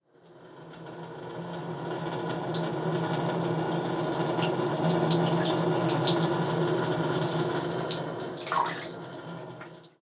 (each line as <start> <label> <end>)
3.8 streaming water sound 10.0